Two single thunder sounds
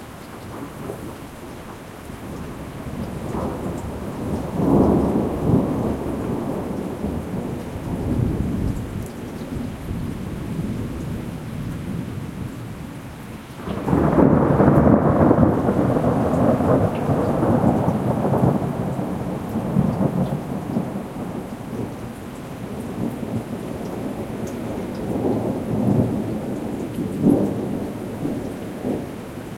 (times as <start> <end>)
13.6 22.0